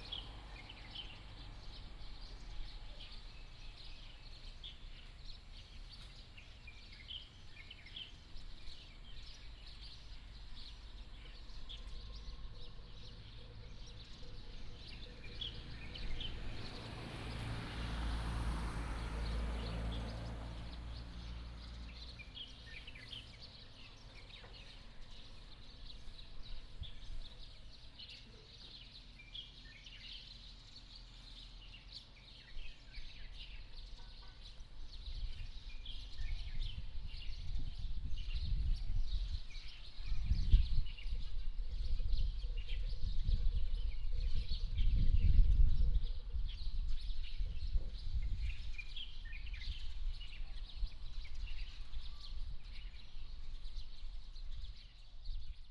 traffic sound 0:00.0 - 0:08.4
birds sound 0:00.0 - 0:55.7
traffic sound 0:09.3 - 0:40.6

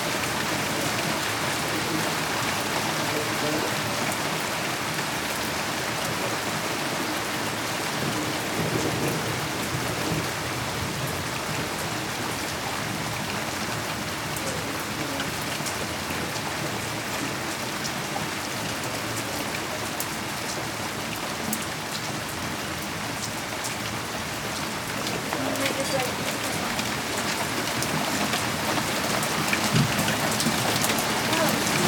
Thunderstorm 0:07.9 - 0:12.3
Thunderstorm 0:29.2 - 0:31.8

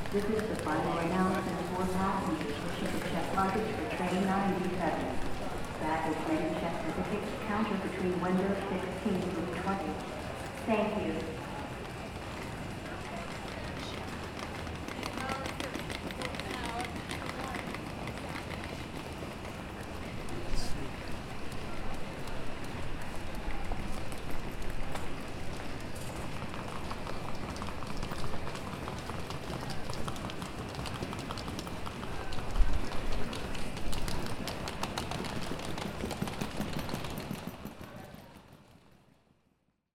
many traveller were passing by 0:00.0 - 0:39.2
People were surrounding by the gate 0:00.0 - 0:39.4

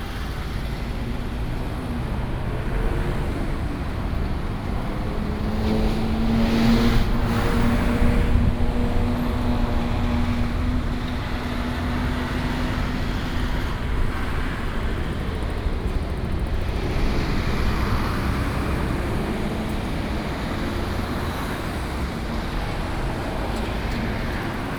traffic sound 0:00.0 - 0:24.7

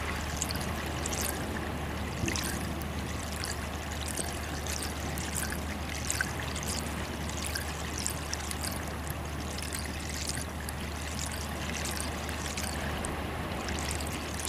trickle of melt water in the pipe 0:00.0 - 0:14.4

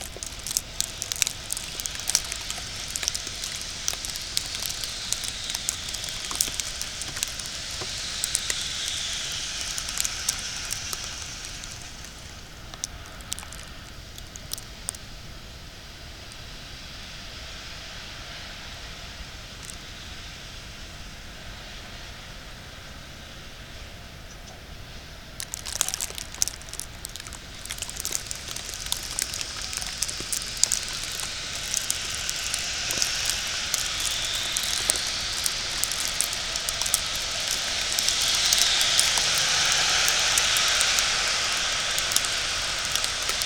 wet snow falling on a second storey balcony 0:00.0 - 0:16.6
wet snow falling on a second storey balcony 0:25.4 - 0:43.4

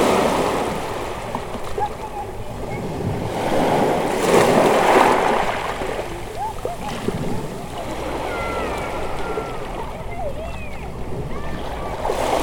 water coming in at the harbour 0:00.0 - 0:12.4

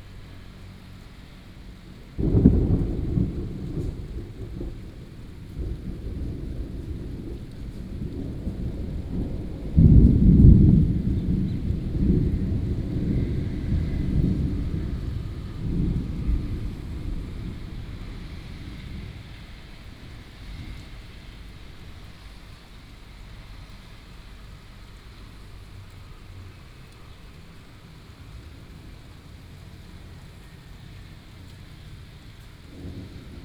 Traffic sound 0:00.0 - 0:33.4
Thunderstorms 0:02.2 - 0:23.0
Thunderstorms 0:26.2 - 0:33.4

